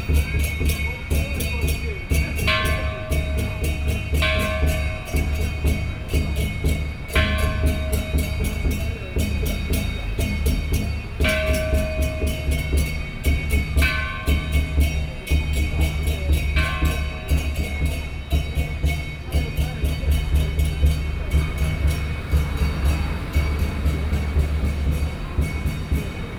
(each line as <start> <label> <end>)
0.0 Parade 26.3
0.0 Pedestrian 26.3
0.0 Traffic Sound 26.3